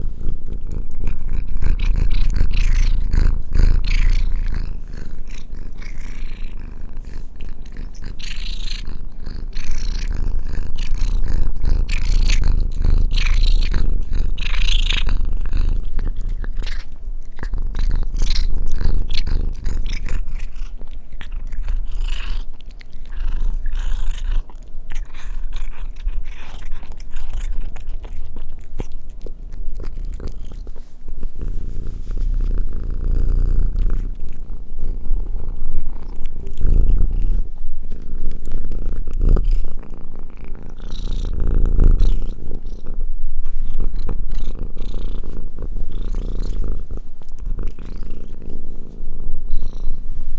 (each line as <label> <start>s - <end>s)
cat Tails eating a treat 0.0s - 50.0s
purring 0.0s - 50.3s